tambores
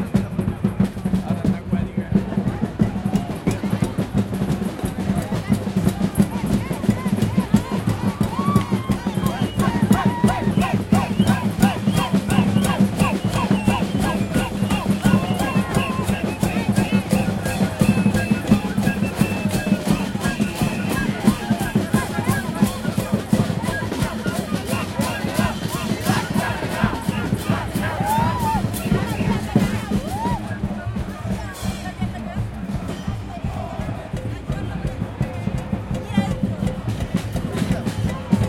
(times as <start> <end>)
6.9 32.0